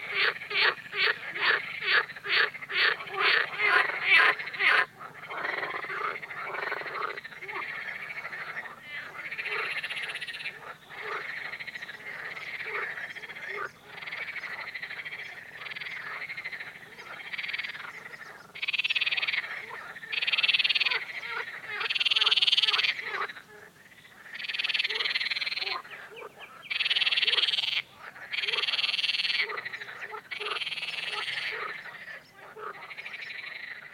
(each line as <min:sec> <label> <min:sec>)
0:00.0 frogs 0:33.9